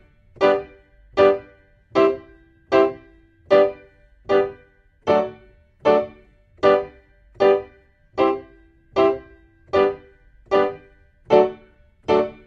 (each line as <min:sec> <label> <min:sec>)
0:00.0 PIANO 0:12.4